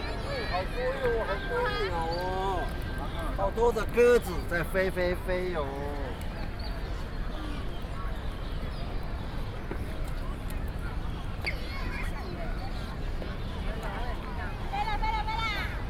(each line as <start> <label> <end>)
0.0 Walking in the square 15.8